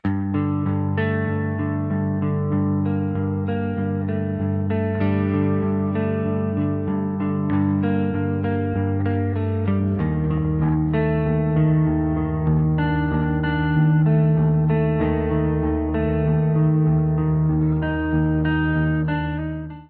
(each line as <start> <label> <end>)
0.0 electric guitar 19.8